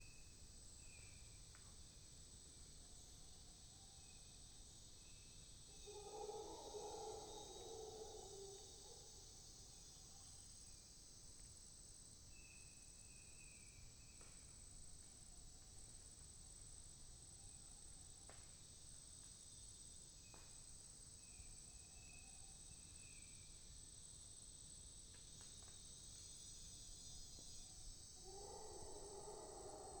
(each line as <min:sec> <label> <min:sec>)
0:05.7 Howler monkeys 0:09.6
0:28.2 Howler monkeys 0:30.0